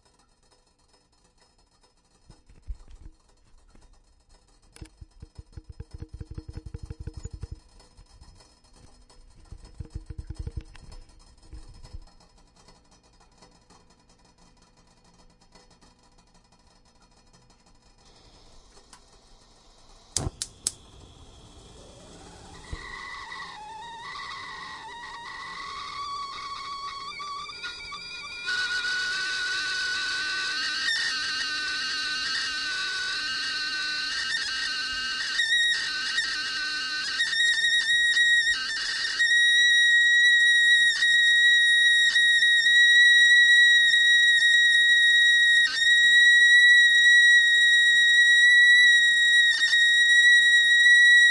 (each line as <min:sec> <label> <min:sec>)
0:00.0 boiling 0:51.3
0:17.8 steam 0:51.3
0:18.4 crackling 0:35.0
0:20.1 whistle 0:51.3